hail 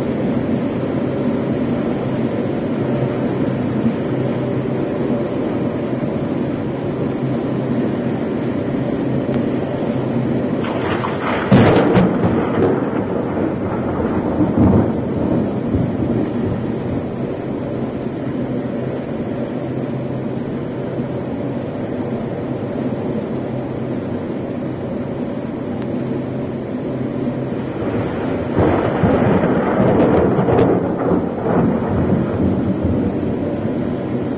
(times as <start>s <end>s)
10.6s 17.2s, 27.6s 34.3s